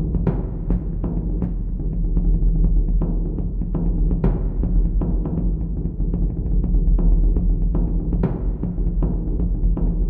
0.0s Taiko Drum Rhythm 10.0s

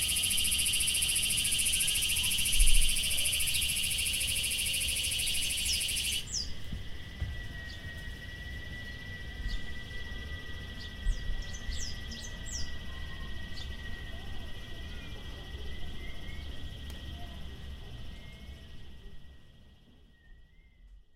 0.0s intense cicada (Quesada Gigas) 21.1s

